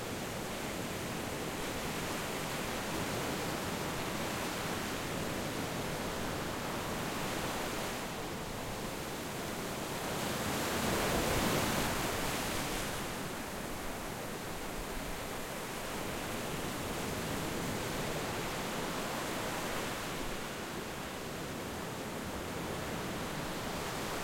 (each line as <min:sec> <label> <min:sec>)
0:00.0 waves rolling onto shore 0:24.2